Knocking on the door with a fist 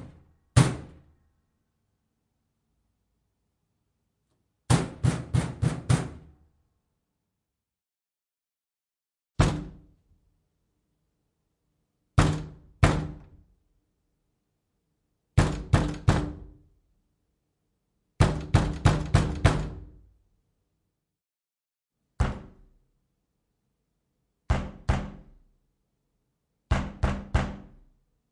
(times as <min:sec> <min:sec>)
0:04.7 0:06.3, 0:09.4 0:09.8, 0:12.2 0:13.3, 0:15.4 0:16.5, 0:18.2 0:19.9, 0:24.5 0:25.3, 0:26.7 0:27.7